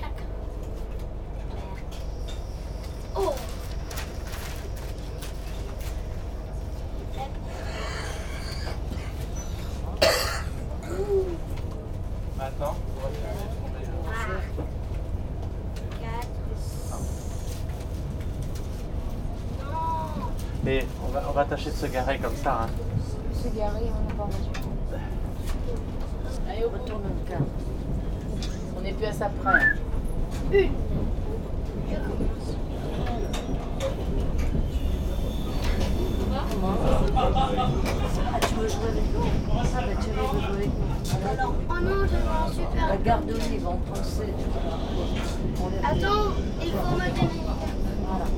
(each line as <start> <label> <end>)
0.0 train 48.3